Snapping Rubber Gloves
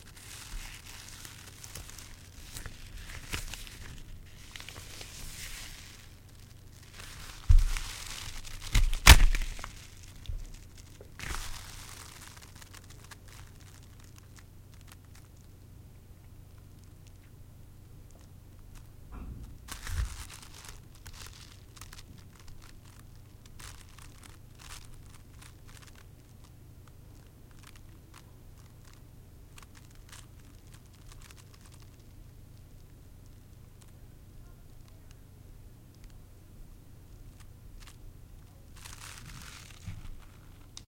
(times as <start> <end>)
0.0 15.3, 19.7 27.0